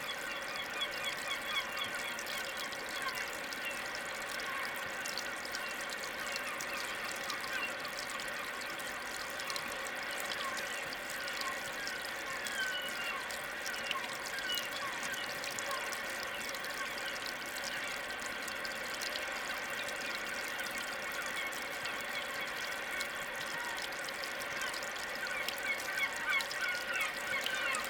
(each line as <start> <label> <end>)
0.0 source of the Douro river 27.8